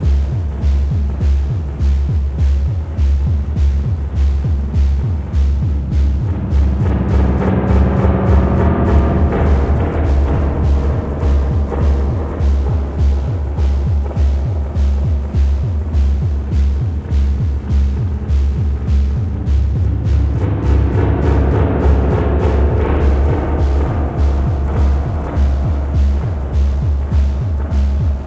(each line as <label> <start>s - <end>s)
percussion 0.0s - 28.2s